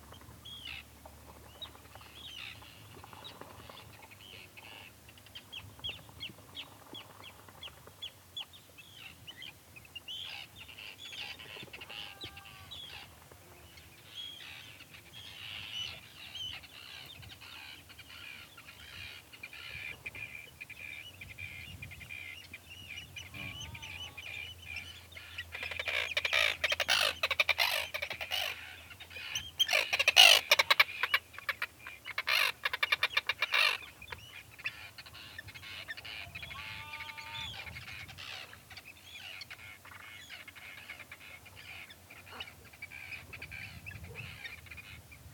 wind 0:00.0 - 0:45.3
sheep 0:11.8 - 0:13.5
sheep 0:23.3 - 0:24.4
sheep 0:36.2 - 0:37.8

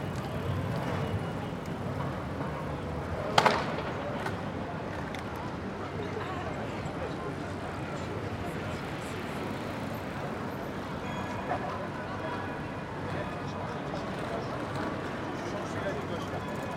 skaters 0:00.0 - 0:05.4
Trams 0:00.0 - 0:16.7
bikers 0:00.0 - 0:16.7

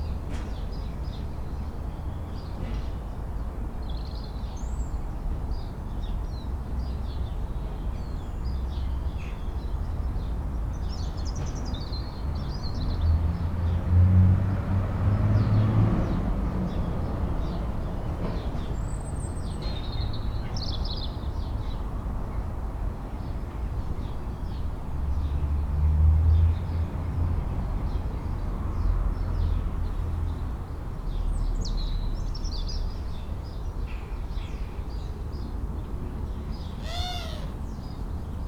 blue tit 0:36.5 - 0:37.9
house sparrow 0:36.6 - 0:37.8
blackbird 0:36.7 - 0:37.8
starling 0:36.8 - 0:37.7
collared dove 0:36.8 - 0:37.6
crow 0:36.8 - 0:37.6
jackdaw 0:36.8 - 0:37.6
robin 0:36.8 - 0:37.7
wood pigeon 0:36.8 - 0:37.7

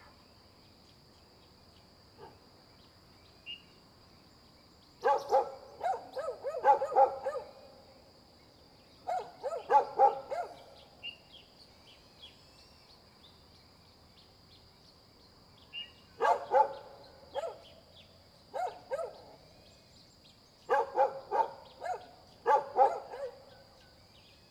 birds sound 0:04.8 - 0:07.6
Dogs barking 0:05.0 - 0:07.6
Dogs barking 0:09.1 - 0:10.7
birds sound 0:15.7 - 0:24.5
Dogs barking 0:16.2 - 0:17.6
Dogs barking 0:18.5 - 0:19.4
Dogs barking 0:20.7 - 0:23.5

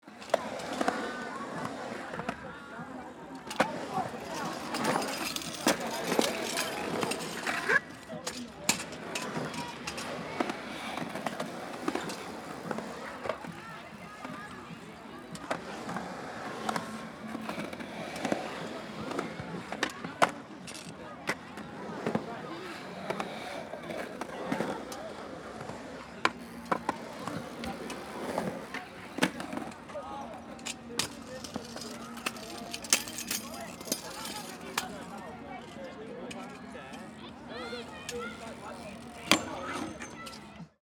BMXers 0:00.1 - 0:40.7
Skate boards 0:00.1 - 0:40.8
scooters jumping over a tabletop 0:25.6 - 0:35.3
scooters jumping over a tabletop 0:37.6 - 0:40.5

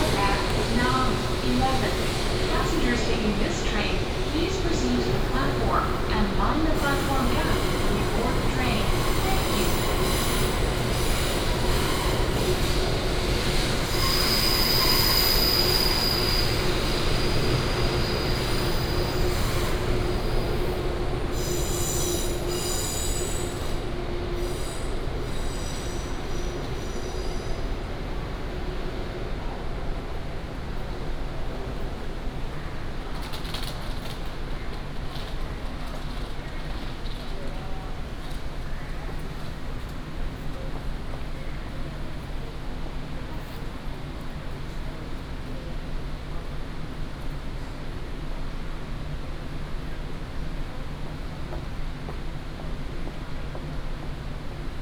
Station Message Broadcast 0:00.0 - 0:09.9
The train travels 0:00.0 - 0:54.8
Walking in the station platform 0:00.0 - 0:54.8

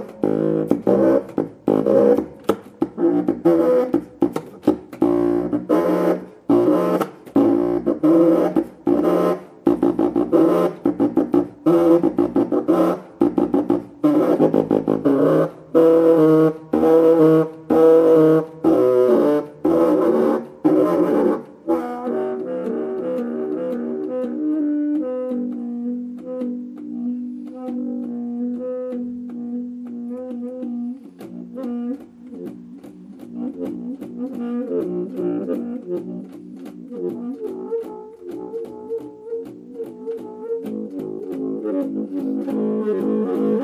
bass sax solo 0:00.0 - 0:43.6

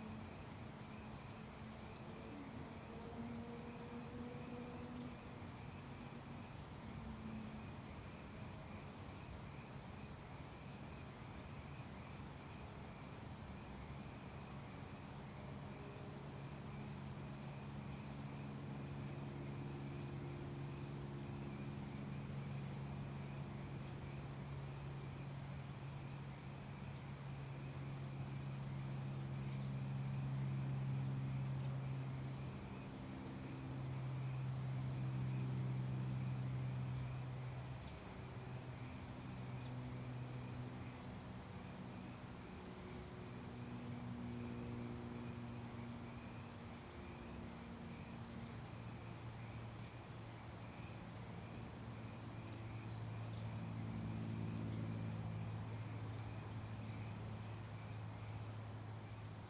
creek 0:00.0 - 0:59.4
highway 0:00.0 - 0:59.4

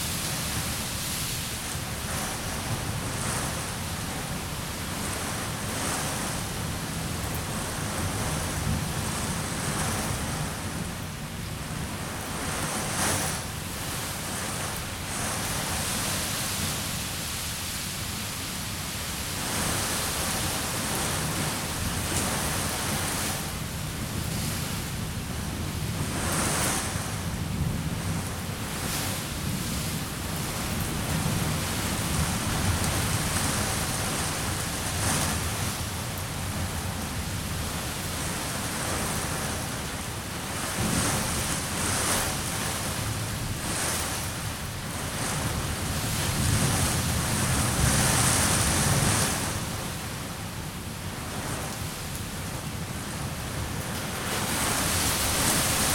pattering rain on an balcony canopy 0:00.0 - 0:55.9
storm blows rain against houses and trees 0:00.0 - 0:55.9

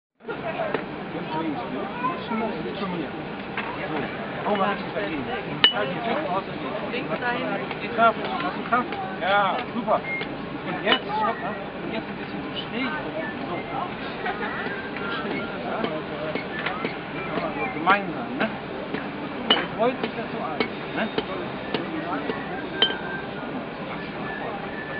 small boy is being instructed 0:01.2 - 0:04.9

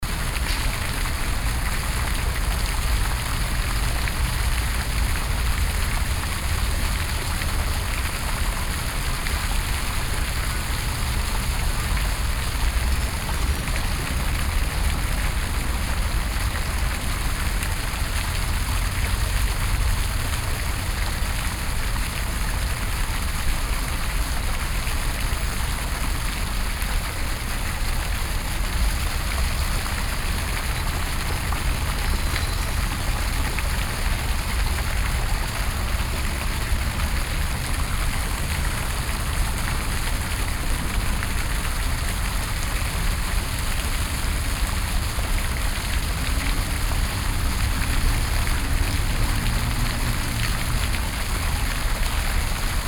Dupont Circle Fountain 0:00.0 - 0:52.8

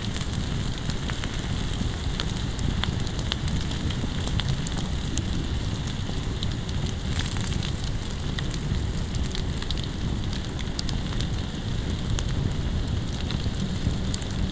fireplace with some grill and food on it 0:00.0 - 0:14.5

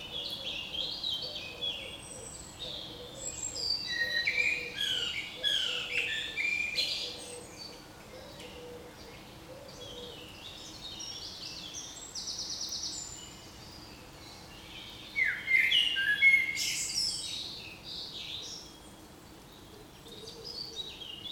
Common moorhen 0:00.0 - 0:10.9
Common Wood Pigeon 0:00.0 - 0:12.8
Common blackbird 0:00.0 - 0:21.3
Common robin 0:00.0 - 0:21.3
Eurasian Collared Dove 0:00.0 - 0:21.3
Eurasian Wren 0:00.0 - 0:21.3
Common Wood Pigeon 0:19.5 - 0:21.3

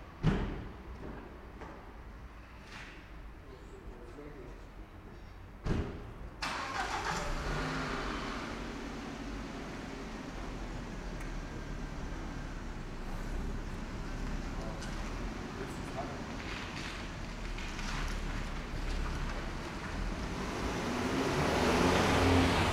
autos 0:05.7 - 0:22.7

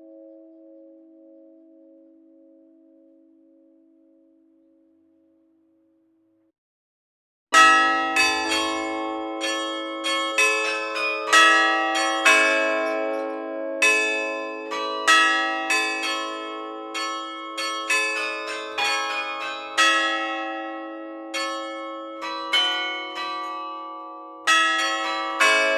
Carillon du beffroi de l'hôtel de ville 0:07.6 - 0:25.7

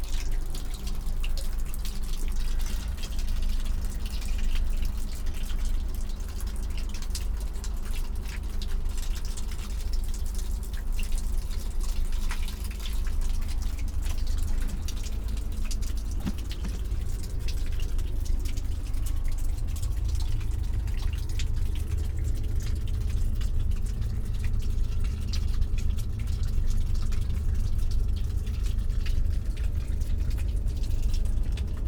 dripping cliff garden 0:00.0 - 0:31.8
spring waters 0:00.0 - 0:31.8
trickling 0:09.4 - 0:31.8

